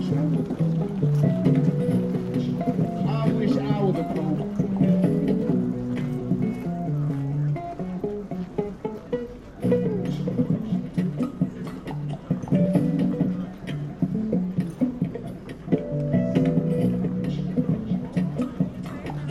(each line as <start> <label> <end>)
0.0 Bouzuki 19.3